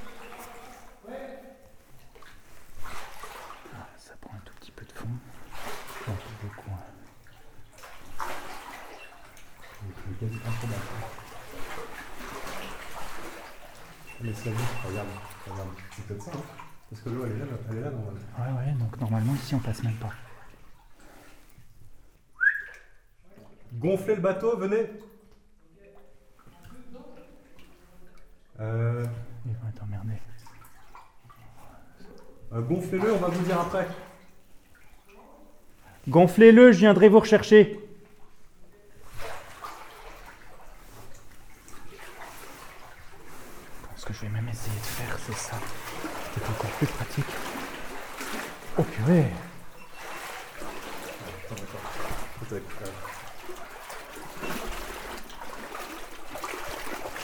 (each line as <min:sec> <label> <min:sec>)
0:00.0 boats 0:18.4
0:00.0 cross a tunnel with few water 0:57.2
0:00.0 swimming in a deep cold 4 meters deep water 0:57.2
0:19.2 boats 0:23.8
0:30.4 boats 0:57.2